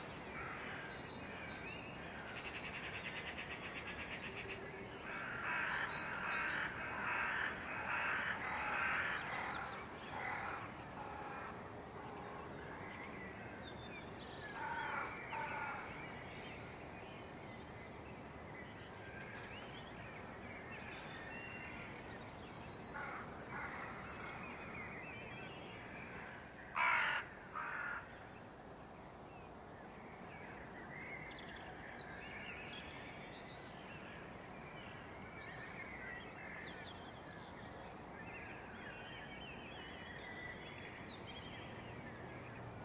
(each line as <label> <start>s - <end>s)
crows 0.3s - 0.9s
crows 2.1s - 12.3s
crows 14.6s - 15.9s
crows 23.0s - 24.6s
crows 26.2s - 28.1s